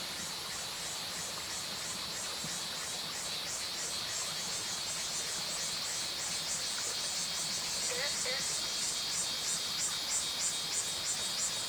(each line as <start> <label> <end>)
7.5 Cicadas called 11.6
7.8 Frogs called 9.0